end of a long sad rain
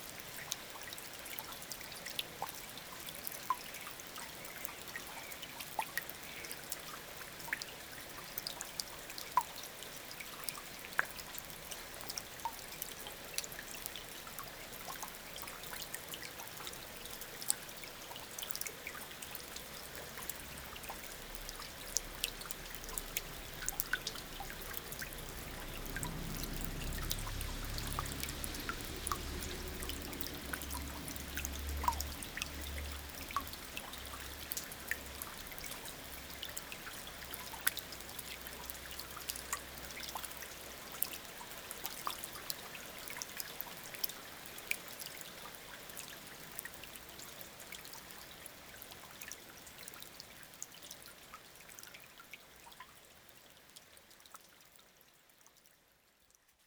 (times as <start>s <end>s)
17.7s 45.0s